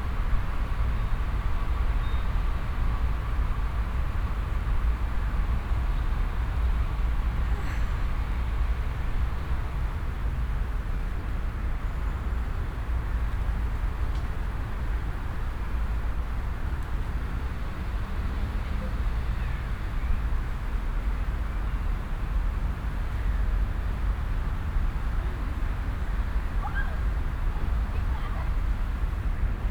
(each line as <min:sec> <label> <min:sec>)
0:00.0 city noise 0:29.7
0:12.2 traffic 0:29.7